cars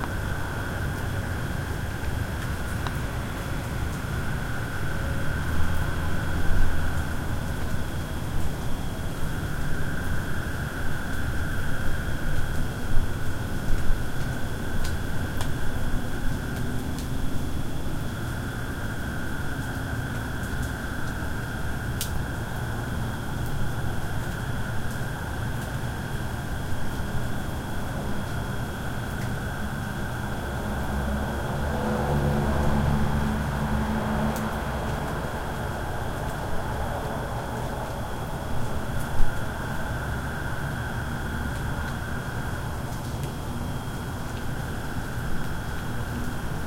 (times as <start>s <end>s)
30.4s 38.2s